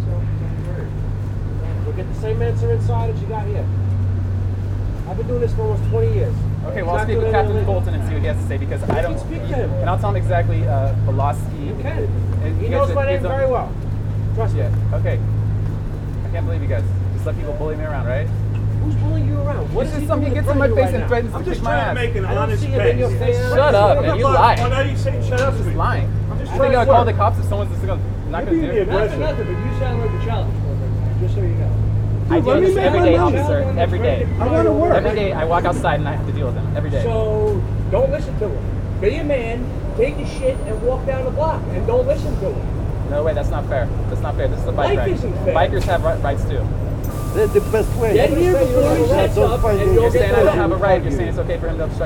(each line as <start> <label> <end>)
0.0 conversation 52.0